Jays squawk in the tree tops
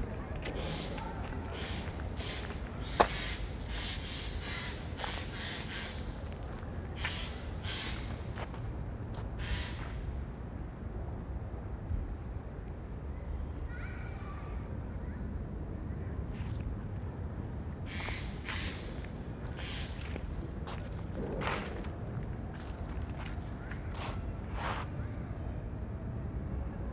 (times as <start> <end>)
0.6 8.6, 9.4 10.0, 17.9 20.9